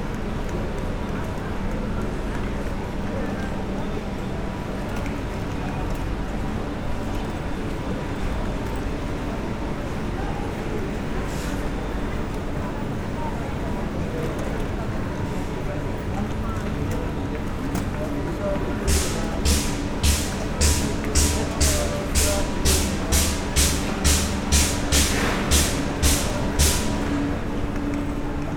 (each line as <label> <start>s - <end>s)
noise coming from the locomotives engines 0.0s - 28.5s
people talking 6.7s - 28.5s